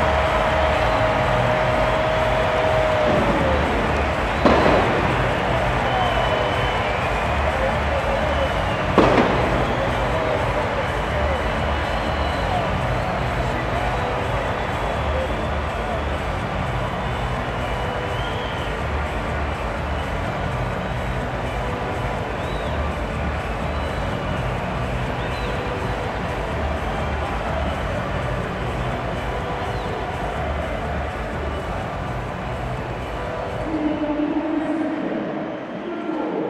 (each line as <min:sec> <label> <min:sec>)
0:00.0 Soccer match 0:36.4